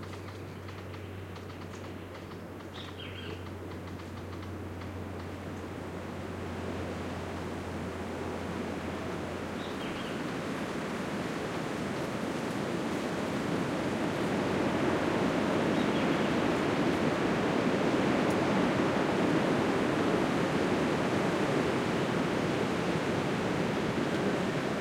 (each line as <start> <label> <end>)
0.0 birdsong 4.5
0.0 wind 24.8
9.6 birdsong 10.2
15.7 birdsong 16.4